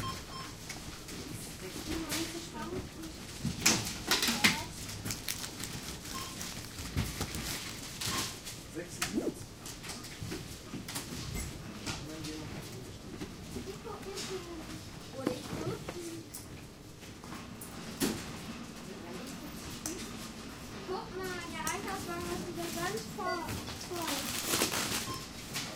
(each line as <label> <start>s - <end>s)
Packing bags 3.8s - 8.4s
beeping 6.0s - 6.7s
talking 9.0s - 9.4s
Packing bags 23.8s - 25.4s